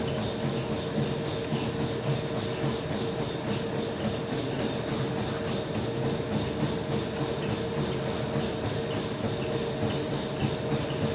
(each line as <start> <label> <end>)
0.0 Treadmills 11.1